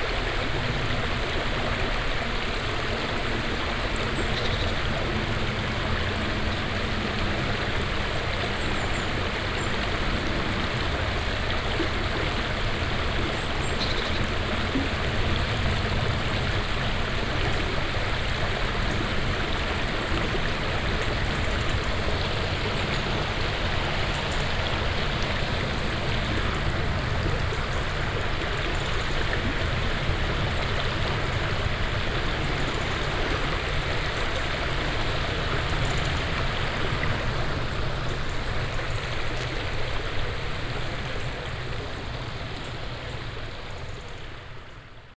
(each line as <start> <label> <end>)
0.0 floating water 45.1
4.0 birds chirping inside the forest 5.0
13.4 birds chirping inside the forest 14.3